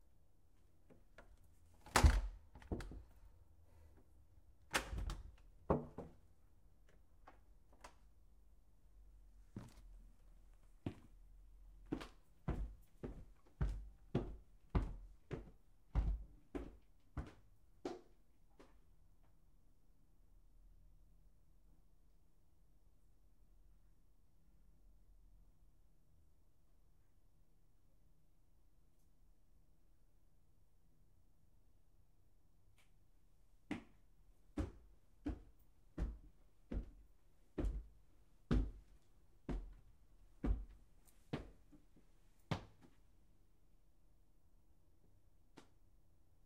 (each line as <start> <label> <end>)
1.9 walking up and down wooden basement stairs 3.2
4.8 walking up and down wooden basement stairs 8.1
9.5 walking up and down wooden basement stairs 10.0
10.6 walking up and down wooden basement stairs 19.4
33.7 walking up and down wooden basement stairs 43.0